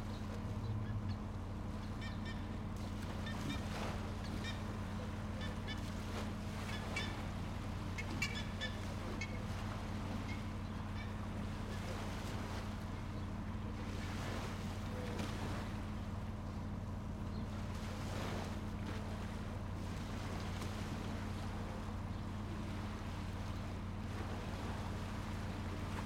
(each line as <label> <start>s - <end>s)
FERRY 0.0s - 26.0s
BIRDS 0.0s - 14.0s
BIRDS 16.2s - 17.6s